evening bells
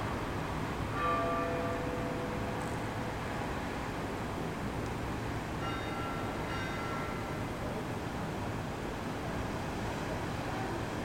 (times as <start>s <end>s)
1.0s 3.1s, 5.6s 7.5s